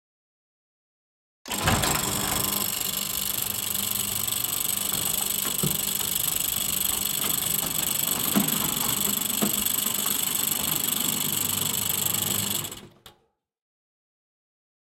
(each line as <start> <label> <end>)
1.5 Electronic Gate Open 13.0
1.5 motor 13.0